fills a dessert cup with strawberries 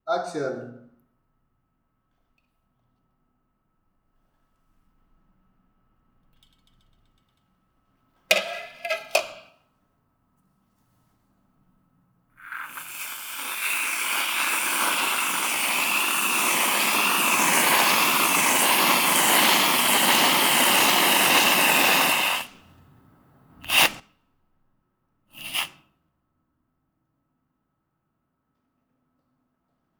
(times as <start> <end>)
12.4 22.8, 25.4 25.8